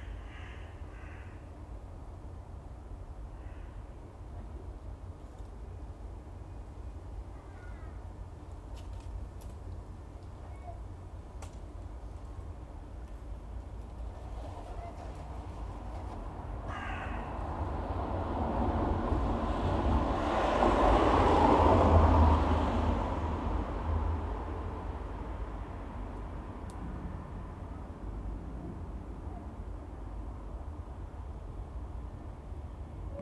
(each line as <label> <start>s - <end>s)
crow circling 0.0s - 1.4s
crow circling 13.8s - 17.6s
passing cars 16.3s - 27.6s